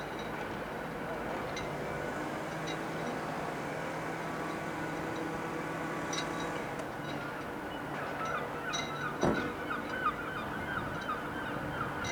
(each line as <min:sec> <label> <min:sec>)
0:00.0 small fishing boats creating small swell against harbour wall 0:12.1
0:08.0 Seagulls 0:12.1